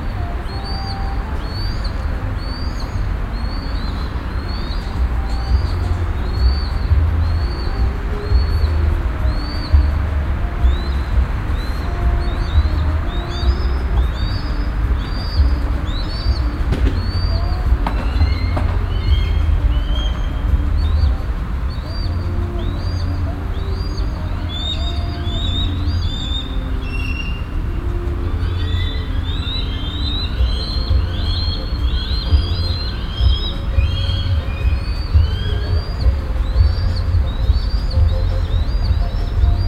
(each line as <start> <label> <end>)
0.0 people 39.6